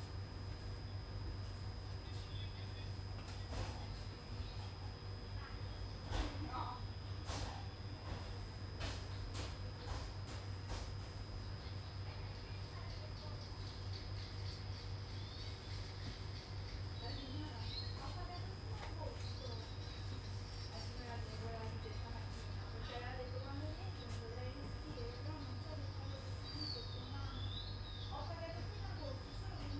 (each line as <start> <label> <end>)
1.9 people chatting 10.2
11.7 people chatting 14.5
15.5 people chatting 29.7